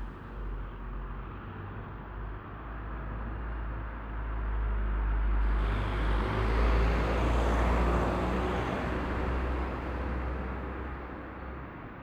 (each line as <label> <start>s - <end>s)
passing by street traffic 4.6s - 12.0s
trains passing the bridge 5.5s - 11.7s